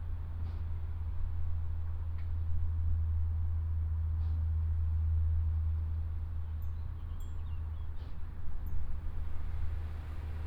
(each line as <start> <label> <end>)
0.0 backdrop of traffic 10.4
0.0 wind 10.4